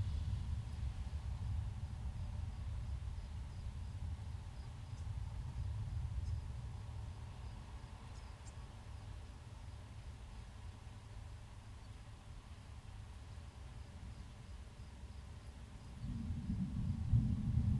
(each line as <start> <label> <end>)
0.0 rain 17.7
16.0 thunder 17.7